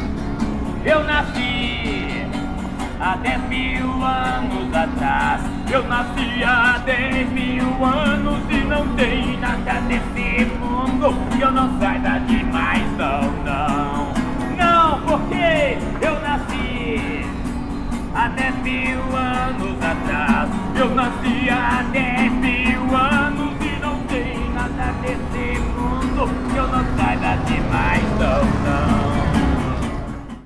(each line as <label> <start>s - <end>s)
Automóveis 0.0s - 30.4s
street musicians 0.0s - 30.4s
vehicles 0.0s - 30.4s
voices 0.0s - 30.4s
wind 0.0s - 30.4s